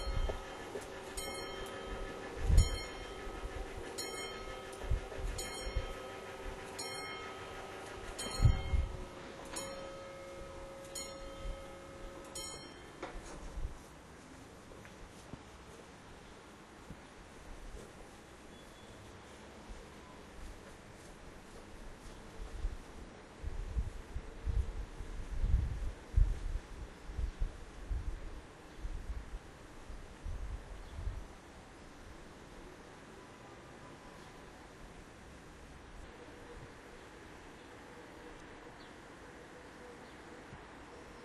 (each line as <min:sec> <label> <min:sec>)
0:00.0 motor of the level crossing 0:13.2
0:00.0 passage of the unexpected train 0:41.2